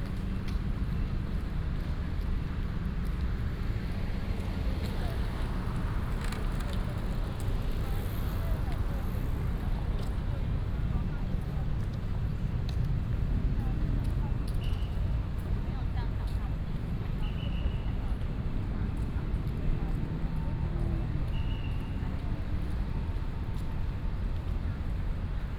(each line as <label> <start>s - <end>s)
Traffic Sound 0.0s - 25.5s
Bicycle sound 4.1s - 9.7s